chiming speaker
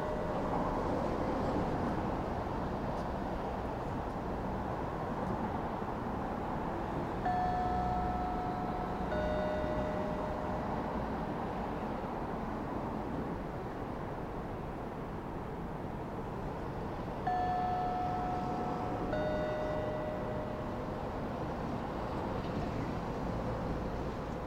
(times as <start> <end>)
0.0 0.9, 7.2 11.8, 17.3 21.5